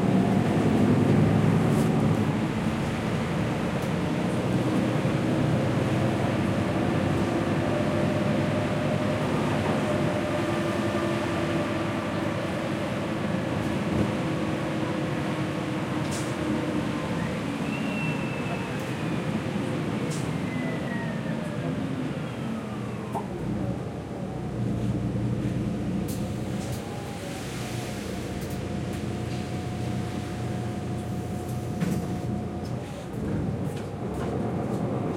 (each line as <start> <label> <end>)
0.0 driving with city bus 35.1